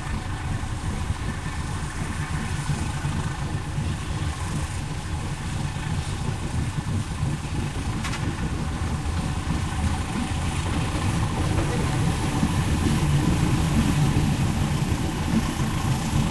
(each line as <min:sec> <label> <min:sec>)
0:00.0 Train leaves 0:16.3